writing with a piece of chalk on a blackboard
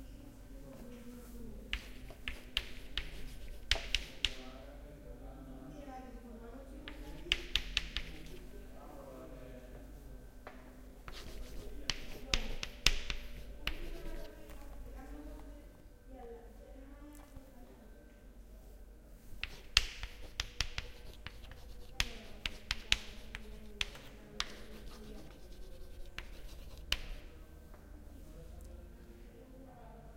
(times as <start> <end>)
1.7 4.5, 6.8 8.6, 11.0 14.9, 19.3 27.4